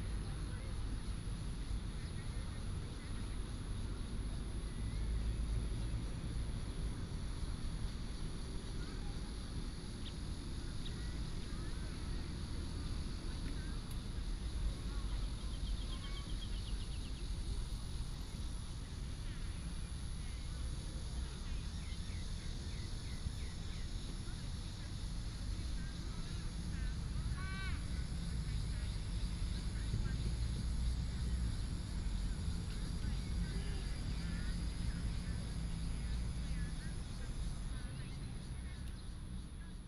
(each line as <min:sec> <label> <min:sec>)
0:00.0 Traffic sound 0:39.8
0:14.8 birds sound 0:17.6